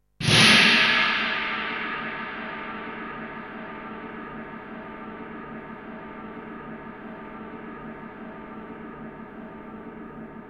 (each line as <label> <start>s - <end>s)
cymbal 0.2s - 10.4s